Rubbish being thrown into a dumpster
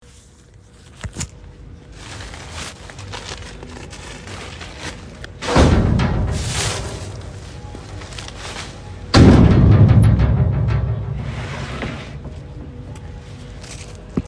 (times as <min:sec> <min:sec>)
0:04.1 0:12.8